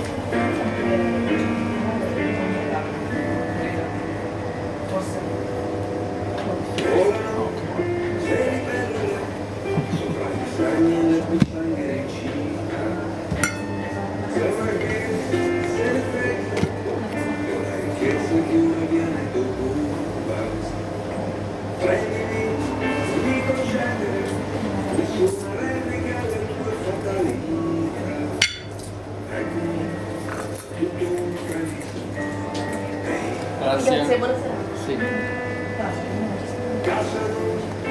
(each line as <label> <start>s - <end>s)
conversation 1.1s - 7.6s
conversation 30.4s - 37.3s